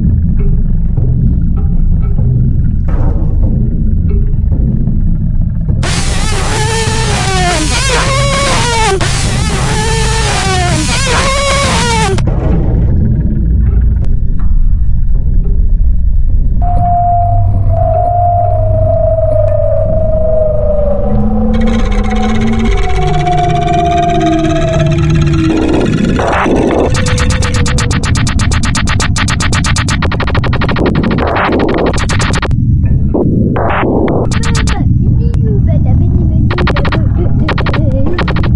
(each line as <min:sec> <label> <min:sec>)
0:00.0 home msde drums 0:15.6
0:25.4 home msde drums 0:32.5
0:33.6 home msde drums 0:34.9
0:34.3 voice of a child 0:38.3
0:36.4 home msde drums 0:38.5